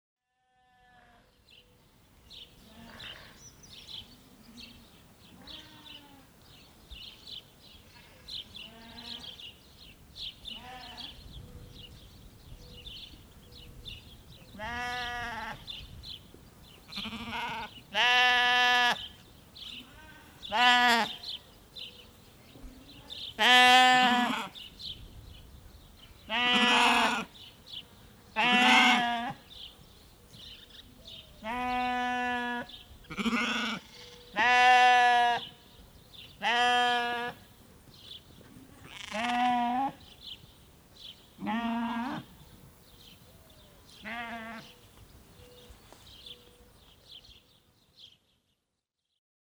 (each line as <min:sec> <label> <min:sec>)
0:01.2 vivid sparrows from a tree bush nearby 0:49.2
0:02.6 sheeps standing close together blaaing 0:09.6
0:14.5 sheeps standing close together blaaing 0:24.7
0:26.0 sheeps standing close together blaaing 0:47.4